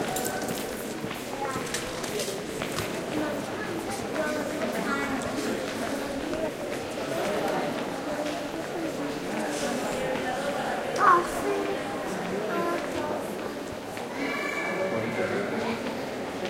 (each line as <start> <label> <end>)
0.0 voices talking in many languages 16.4